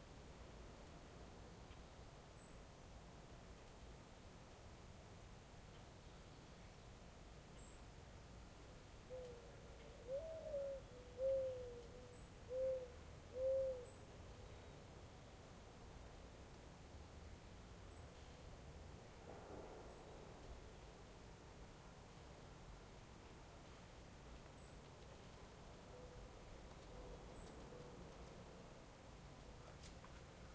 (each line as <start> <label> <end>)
0.0 light wind 30.5
9.0 reoccurring American Mourning Dove calling 14.9
18.9 distant traffic 21.6
25.8 reoccurring American Mourning Dove calling 28.7